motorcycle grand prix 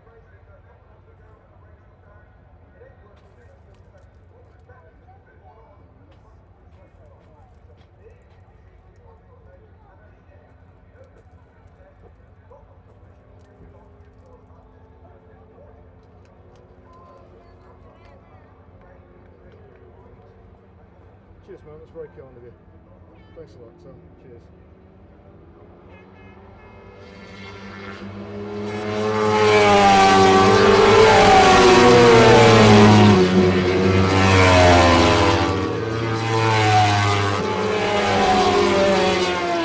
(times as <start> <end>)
13.2 39.6